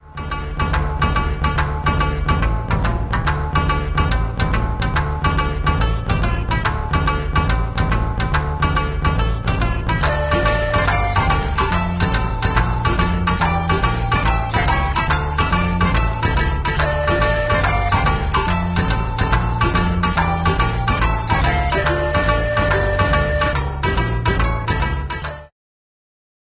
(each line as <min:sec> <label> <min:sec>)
0:00.0 Koto 0:25.5
0:00.0 Shamisen 0:25.5
0:20.4 Shakuhachi 0:23.7